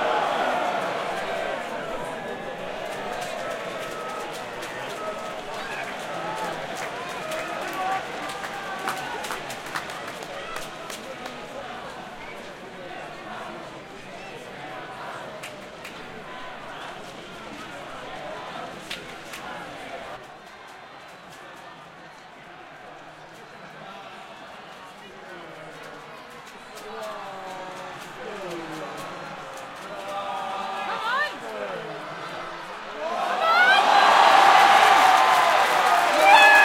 Sports Crowd Various Sounds 0.0 - 36.6
cheer 0.0 - 36.6

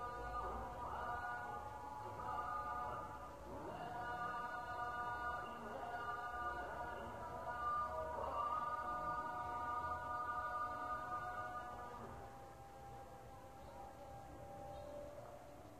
call to prayer from several mosques 0.0 - 15.7

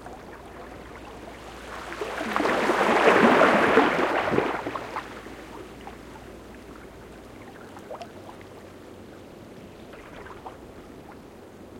water moving through the seaweed 0.0 - 8.6
Quiet waves lapping again some rocks 0.0 - 8.8

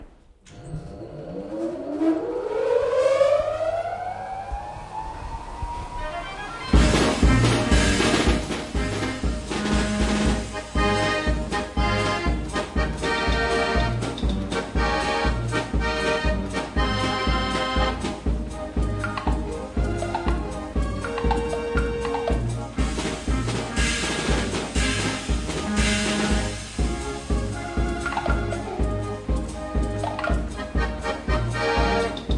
self-playing accordion 6.6 - 32.3

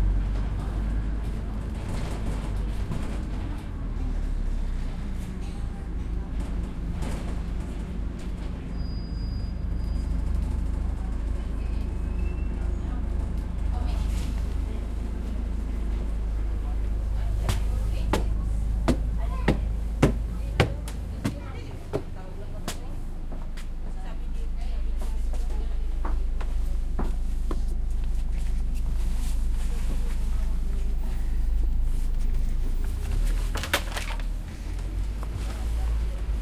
Double-decker arriving to a bus stop 0.0 - 36.4
bus driving between stops 0.0 - 36.4
medium crowd chatter 0.0 - 36.4
doors opening/closing 32.6 - 35.4

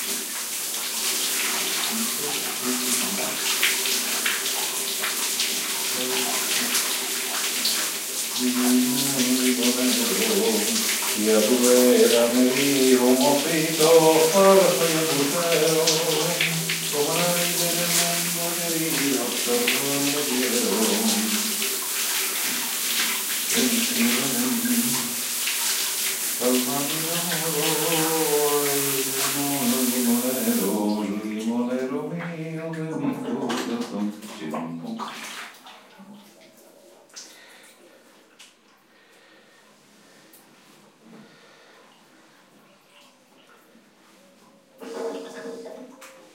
shower 0.0 - 46.3
sings a popular Spanish tune 8.4 - 21.6
sings a popular Spanish tune 23.5 - 25.2
sings a popular Spanish tune 26.4 - 35.0

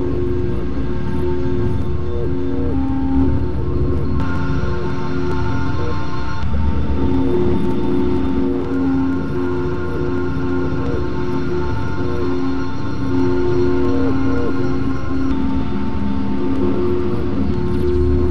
Weird drone 0.0 - 18.3
glitches 0.0 - 18.3

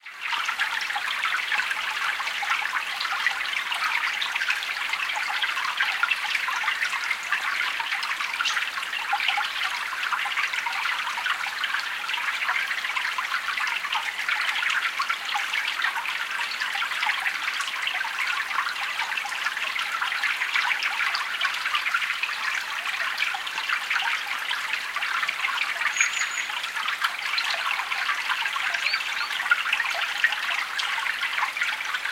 wooded mountain stream 0.0 - 32.1
birds 25.2 - 30.4

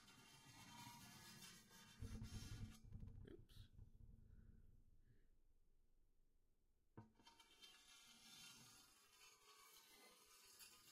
dragged a knife along the edge and inside 7.4 - 10.9

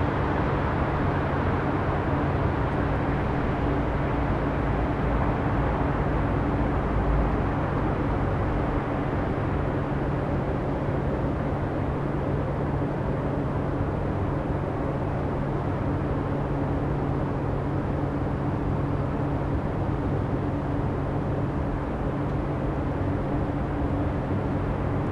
car 0.0 - 15.2

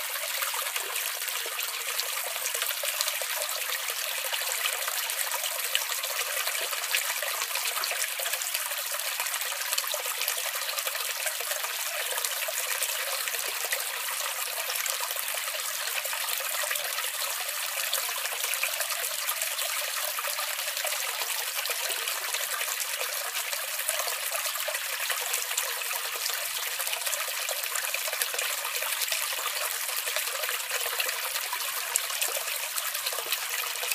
small stream water trickle 0.0 - 33.9

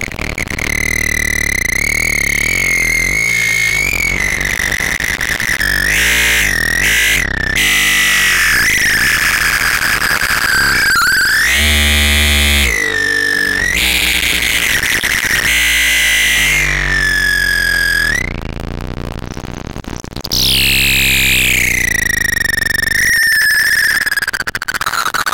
Mute Synth Modulated HighPitch 5.6 - 18.6
Mute Synth Modulated HighPitch 20.3 - 23.0

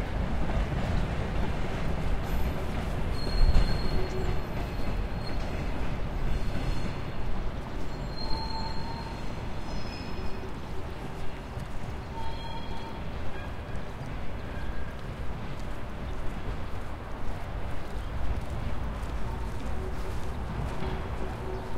Freight train leaves 0.0 - 15.5
street noise 0.0 - 21.7
Train whistle 12.1 - 13.0

